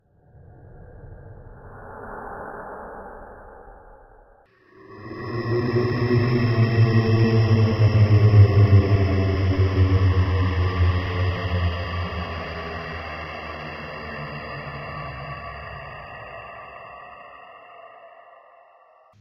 0.1s ghost 19.2s

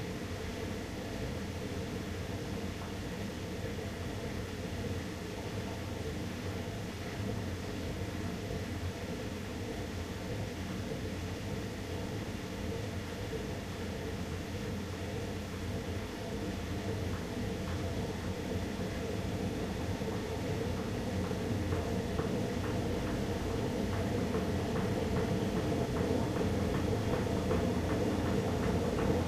1.2s old washing machine 29.2s

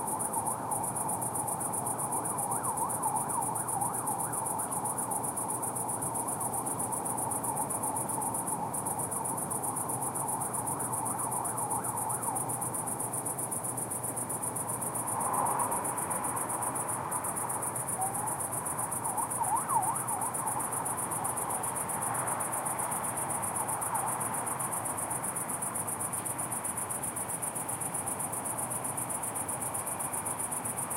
0.0s Cricket in tree 30.9s
2.0s sirens 5.0s
10.1s sirens 12.6s
18.0s sirens 21.3s

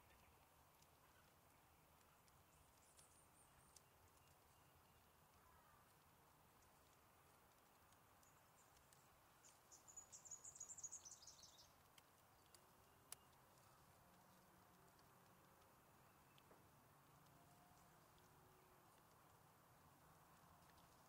0.0s Gentle Breeze in Reeds 21.0s
0.0s birds 21.0s

